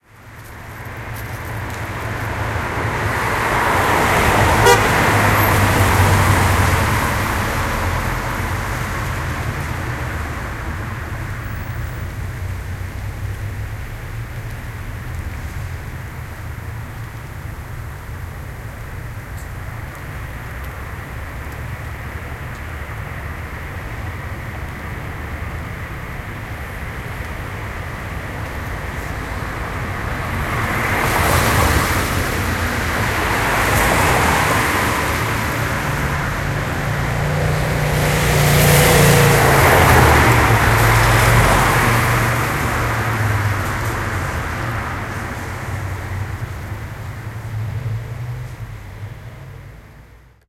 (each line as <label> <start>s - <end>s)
Rain 0.1s - 50.4s
cars passing from right to left on a wet road 0.1s - 50.4s
horns 4.0s - 6.5s